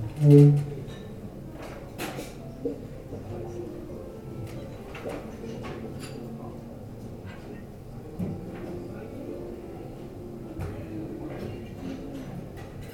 2.4s pianist playing live 11.3s

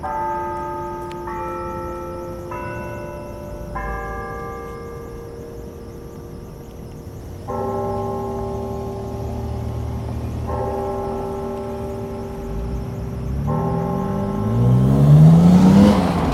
0.0s car alarm 16.3s
8.5s cars drive over it 16.3s

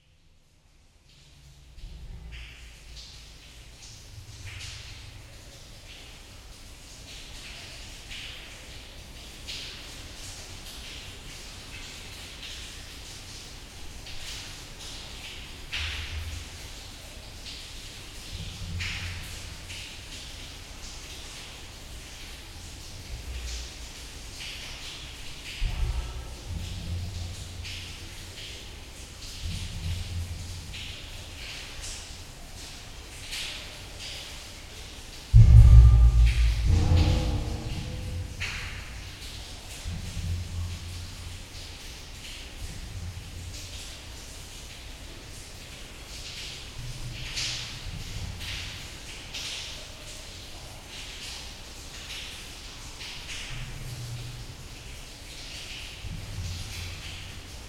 0.0s underground river 57.6s

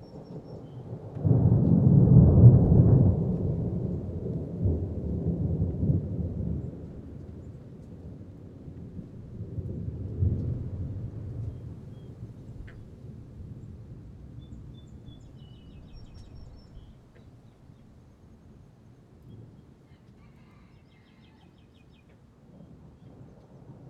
0.0s summer thunder storm 17.0s

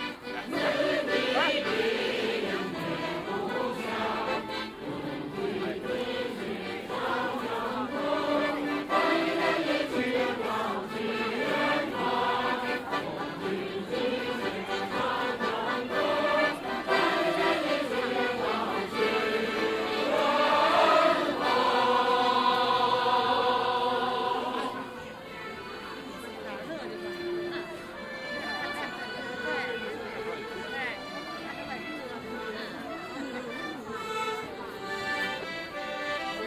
0.0s ensembles of amateur musicians performing 36.4s
0.5s groups sing in chorus acoustic 24.8s

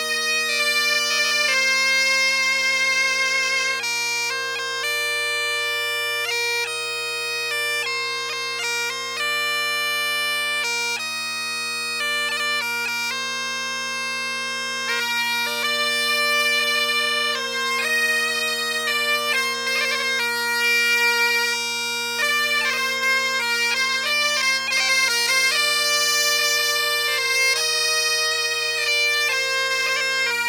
0.0s Traditional britton music 30.4s

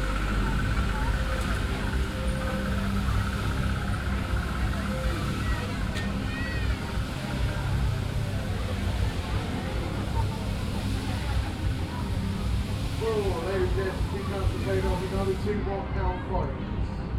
0.0s electric trolley passing by 15.8s
0.0s sounds of other venues on the fairground 17.1s

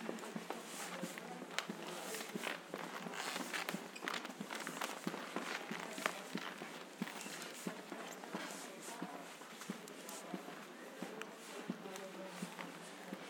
1.8s Squeaky hardwood floor 7.6s

